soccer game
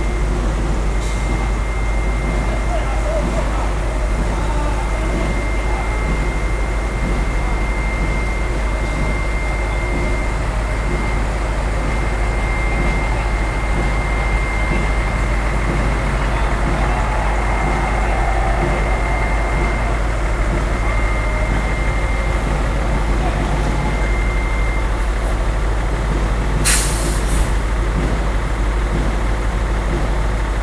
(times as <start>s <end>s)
11.9s 24.8s